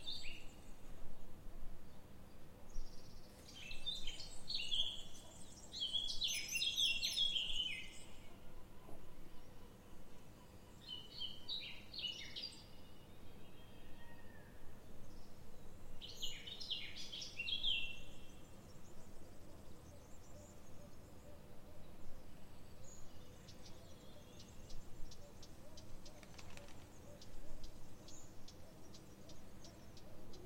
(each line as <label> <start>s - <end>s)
Birds 0.0s - 30.4s